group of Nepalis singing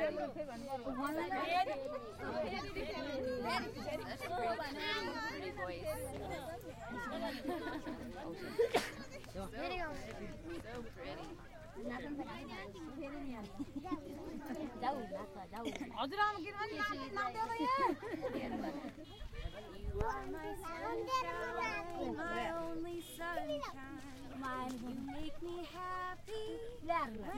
19.8s 27.3s

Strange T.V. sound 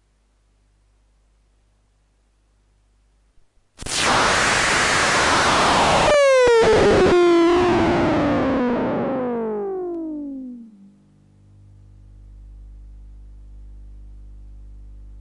3.8s 11.1s

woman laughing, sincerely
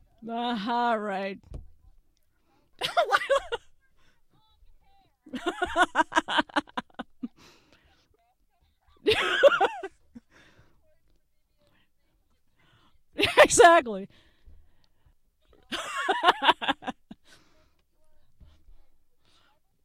2.8s 4.0s, 5.3s 7.6s, 8.9s 10.6s, 15.6s 17.5s

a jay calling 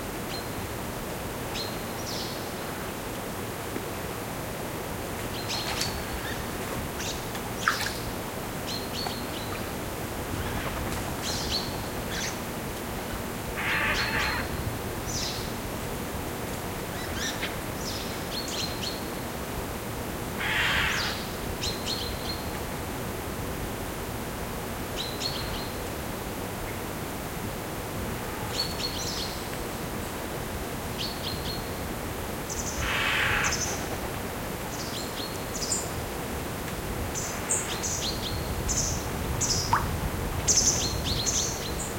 13.6s 14.6s, 20.4s 21.3s, 32.5s 33.9s

